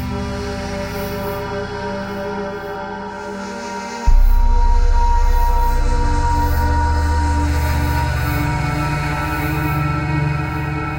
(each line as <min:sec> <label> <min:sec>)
0:00.0 bass 0:10.9
0:00.0 drones 0:10.9
0:04.1 drums 0:10.9